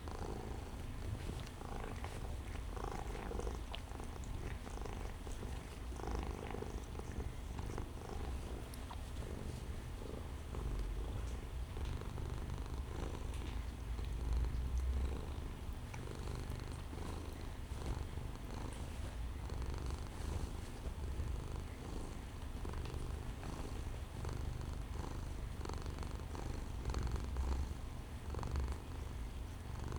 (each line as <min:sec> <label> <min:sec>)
0:00.0 cats, mother and daughter, having their typical argument 0:11.7
0:00.0 purring 0:29.9